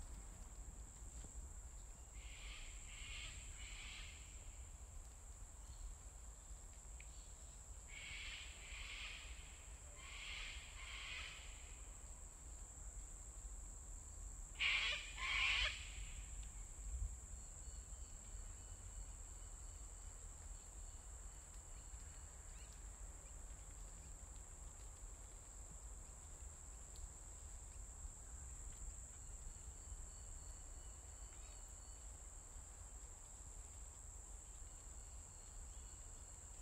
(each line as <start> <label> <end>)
0.0 insects 36.6
2.2 Distant and near cockatoo calls 4.2
7.9 Distant and near cockatoo calls 11.7
14.6 Distant and near cockatoo calls 16.3